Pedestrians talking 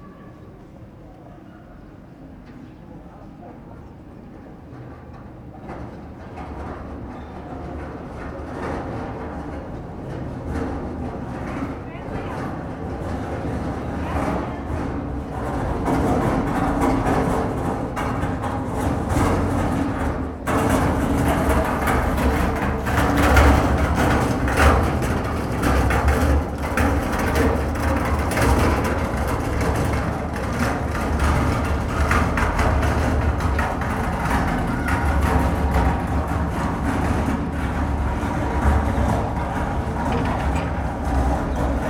34.0s 41.8s

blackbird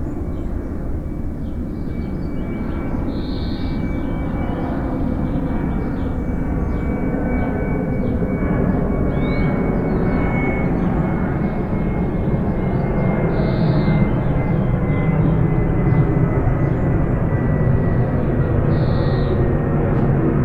1.4s 4.6s, 18.6s 19.5s

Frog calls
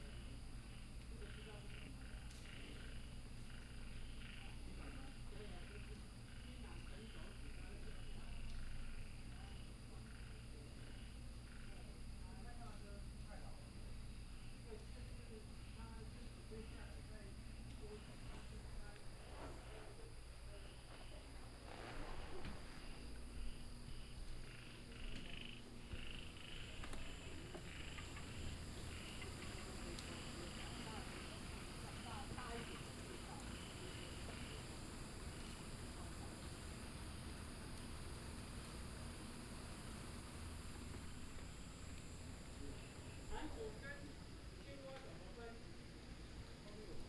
1.2s 4.6s, 23.5s 35.7s

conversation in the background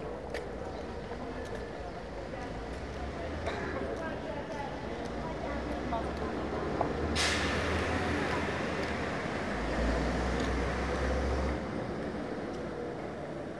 0.0s 10.0s

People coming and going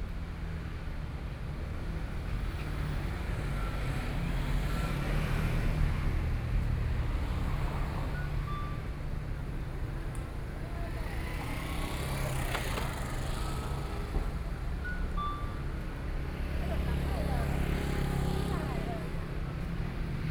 8.9s 19.8s

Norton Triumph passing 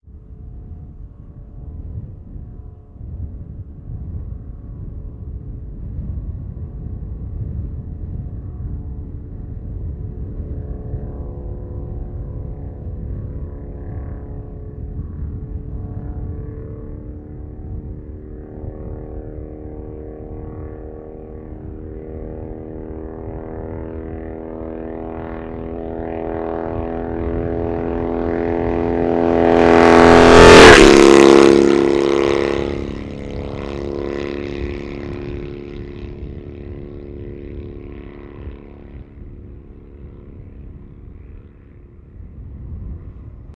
25.5s 36.5s

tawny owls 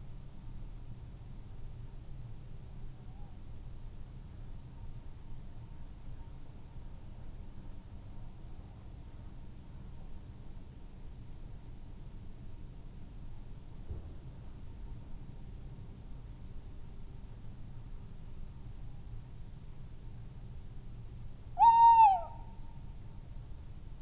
21.6s 22.5s

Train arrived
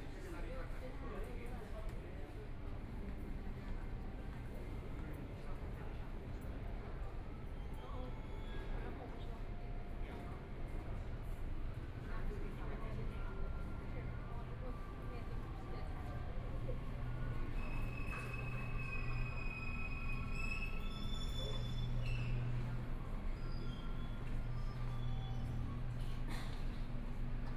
12.9s 27.5s

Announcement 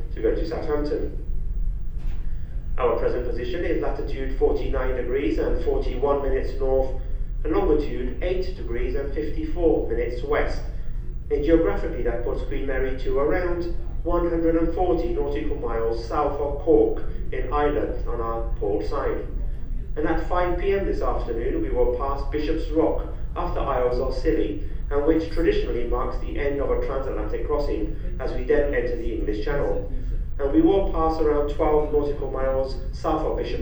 11.3s 33.6s

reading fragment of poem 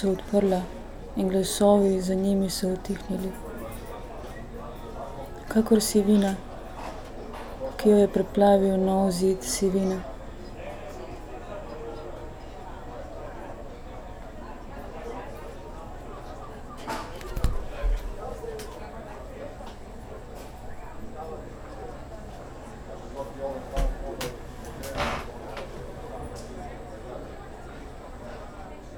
0.0s 3.4s, 5.4s 6.4s

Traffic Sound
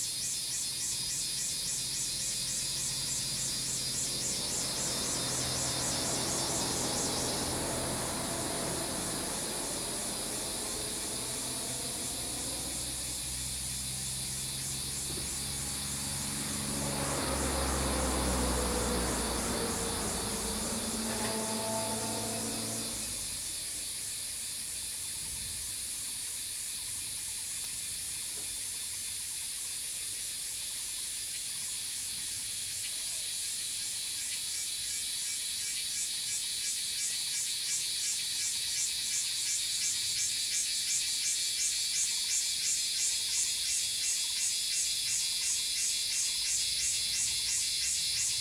1.5s 23.9s

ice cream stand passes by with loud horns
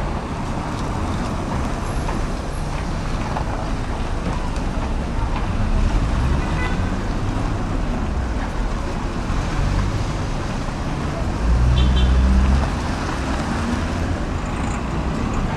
5.6s 7.8s, 11.4s 13.0s

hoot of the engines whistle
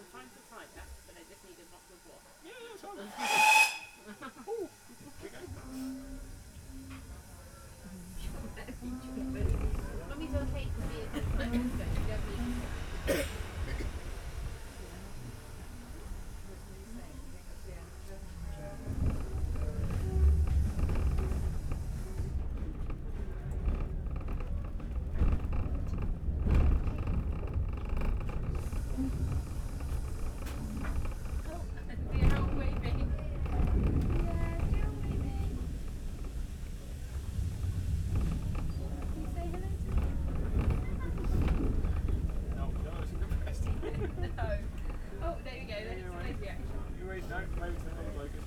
3.2s 4.1s

